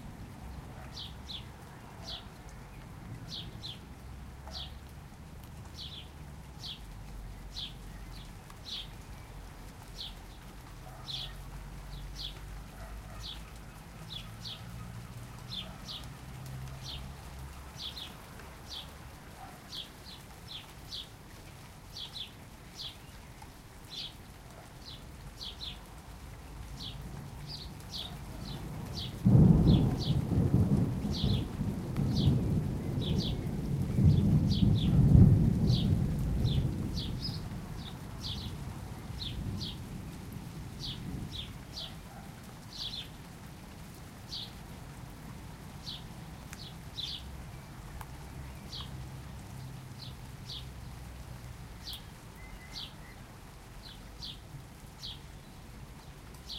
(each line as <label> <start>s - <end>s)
rain 0.0s - 56.5s
birdsong 0.5s - 4.9s
birdsong 5.8s - 21.2s
birdsong 21.9s - 25.9s
birdsong 26.7s - 30.3s
rumbling thunders 28.7s - 37.8s
birdsong 31.1s - 31.5s
birdsong 32.1s - 35.0s
birdsong 35.6s - 40.2s
birdsong 40.8s - 43.2s
birdsong 44.3s - 44.6s
birdsong 45.8s - 50.7s
birdsong 51.8s - 56.5s